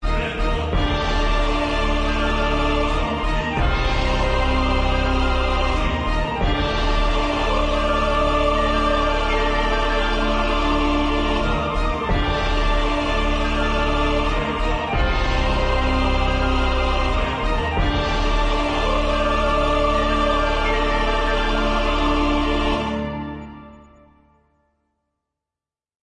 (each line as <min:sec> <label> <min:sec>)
0:00.0 Epic Orchestra Music 0:24.2